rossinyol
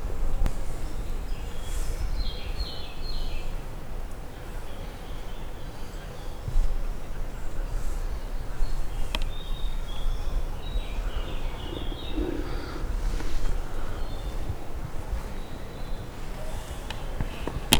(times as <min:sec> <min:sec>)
0:07.6 0:17.7